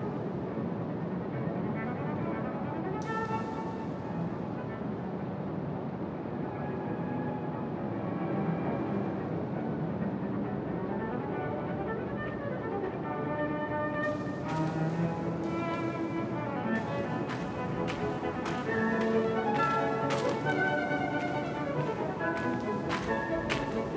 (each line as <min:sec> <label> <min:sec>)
0:00.0 classical music coming fromspeakers inside the garden 0:23.9
0:02.2 windy evening atmosphere 0:06.7
0:12.8 windy evening atmosphere 0:23.9
0:14.0 guests at tables 0:23.9
0:14.0 steps on gravel ground 0:23.9